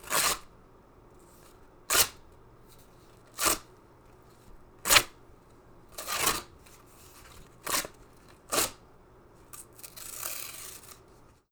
cardboard rips 9.6 - 11.0

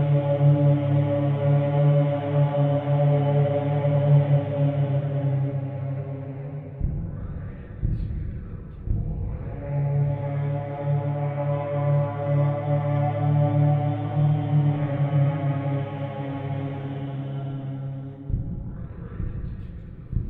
horn-like vocal drone 0.0 - 6.8
horn-like vocal drone 9.1 - 18.3

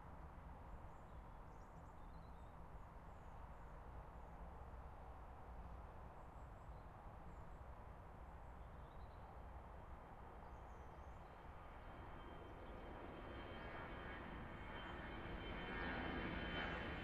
Jet Airliner flys overhead 9.4 - 17.0

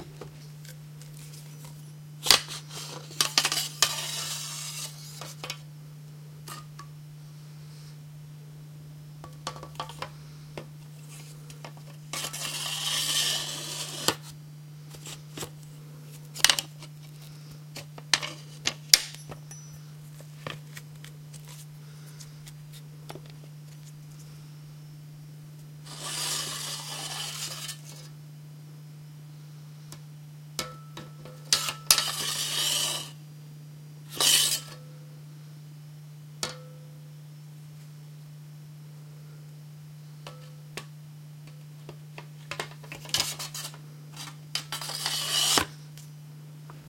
Slow drawing and sheathing of a Japanese Samurai sword 44.8 - 45.7

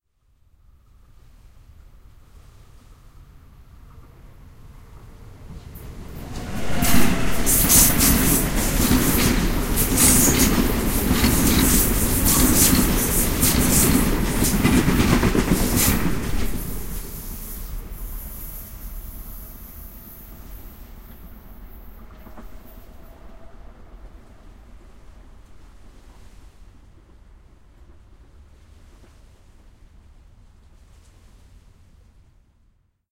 passenger train passes from left to right 3.2 - 27.0

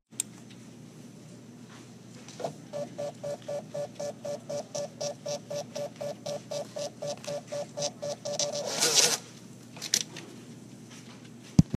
Receipt Printing 2.4 - 9.3

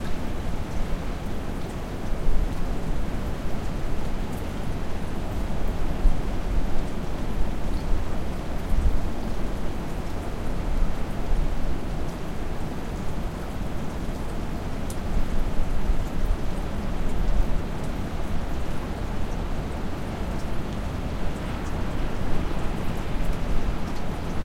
rain on porch 0.0 - 24.4
Distant waves from ocean 18.0 - 24.4

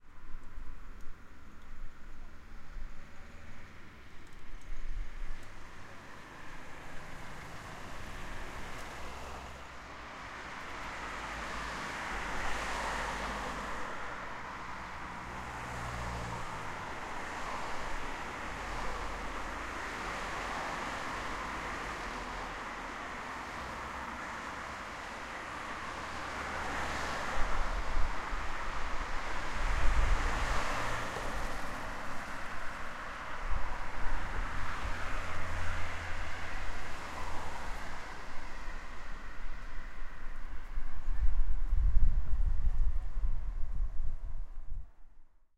traffic passing cars 0.1 - 44.8

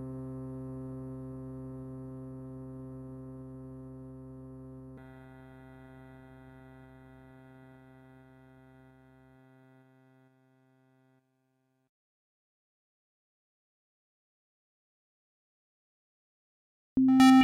sample and hold sound 17.0 - 17.4

